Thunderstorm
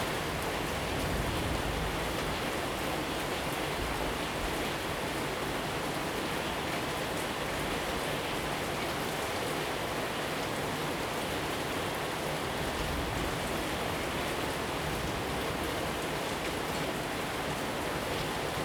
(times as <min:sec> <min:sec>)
0:00.0 0:02.8